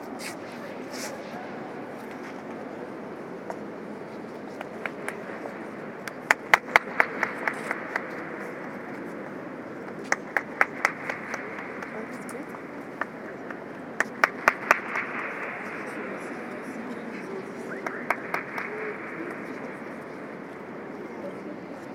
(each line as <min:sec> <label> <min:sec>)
0:04.5 people clapping 0:09.2
0:09.8 people clapping 0:20.6